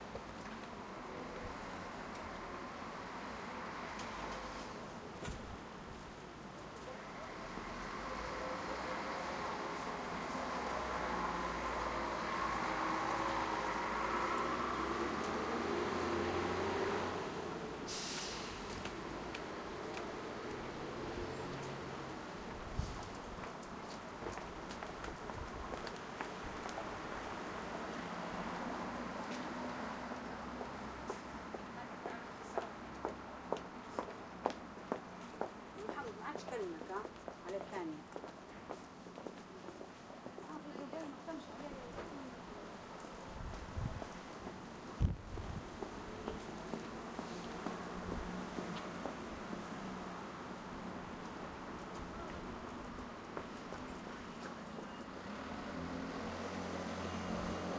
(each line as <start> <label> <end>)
0.0 cars 57.7